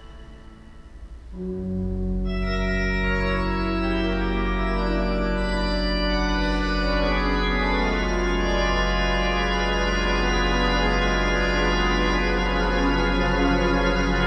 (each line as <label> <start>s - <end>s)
Organ concert 0.0s - 14.2s